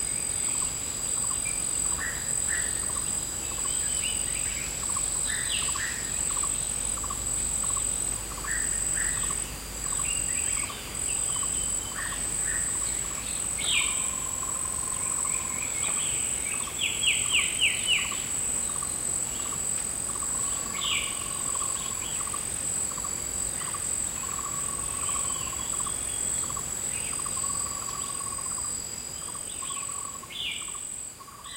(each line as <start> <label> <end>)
0.0 Birds 31.5
0.0 insects 31.5